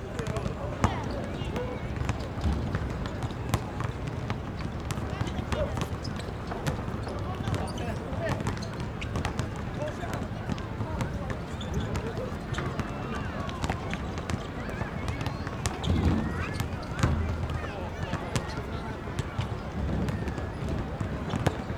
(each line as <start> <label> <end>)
0.0 Play basketball 21.7